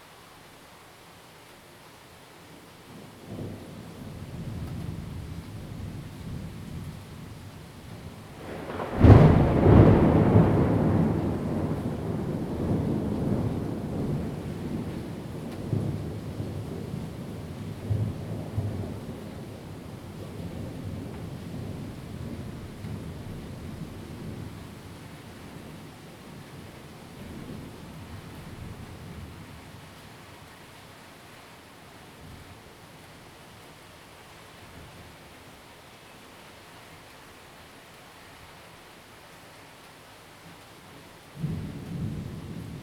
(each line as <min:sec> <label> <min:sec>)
0:00.0 rain 0:42.8
0:00.0 wind 0:42.8
0:07.9 Thunderstorms 0:24.7
0:41.4 Thunderstorms 0:42.8